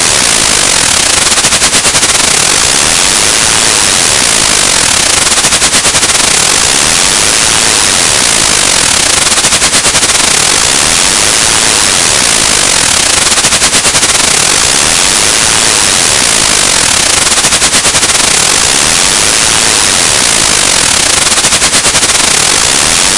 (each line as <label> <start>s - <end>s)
frequency modulated sine wave 0.0s - 23.1s